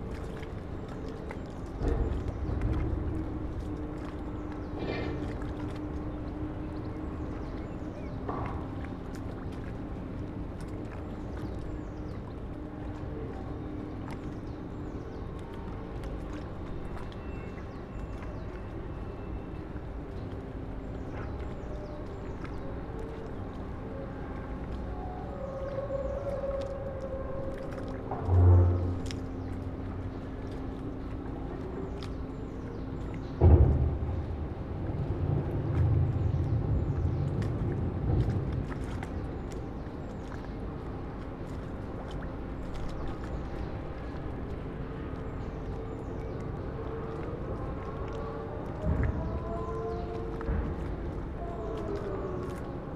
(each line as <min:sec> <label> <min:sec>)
0:00.0 water 0:52.9
0:01.8 loading and shunting going on at the concrete factory 0:05.8